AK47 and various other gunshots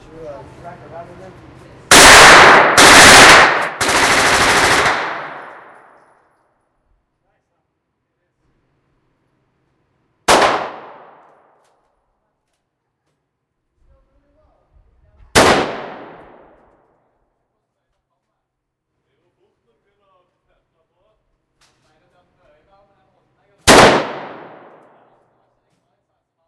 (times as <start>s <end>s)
1.9s 6.0s, 10.3s 11.5s, 15.4s 16.6s, 23.6s 25.1s